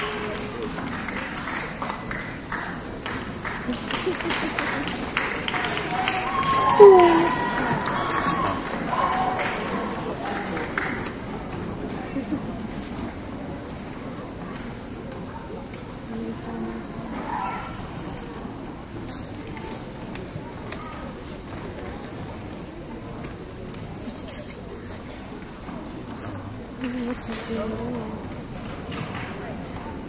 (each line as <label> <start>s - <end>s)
applause 0.0s - 11.5s